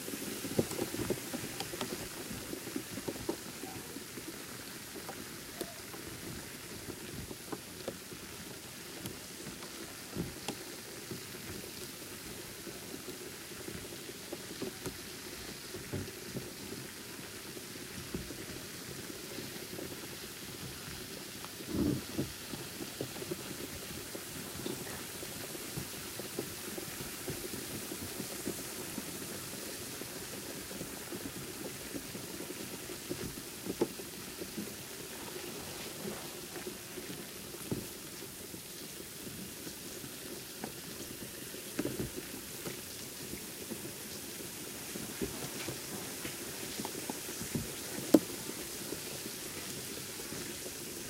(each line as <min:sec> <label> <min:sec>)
0:22.3 liver salts dissolving in water 0:51.0